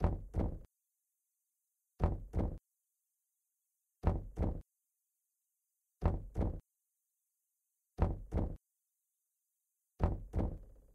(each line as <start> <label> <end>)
2.0 Heart Beat 2.6
4.0 Heart Beat 4.6
6.0 Heart Beat 6.6
8.0 Heart Beat 8.6